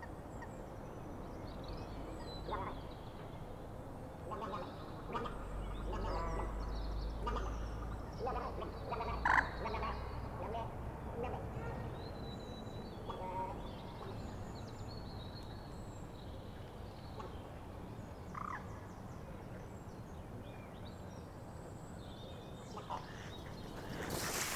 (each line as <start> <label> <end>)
2.2 Moorhen 3.3
4.2 Moorhen 14.5
18.3 Moorhen 18.9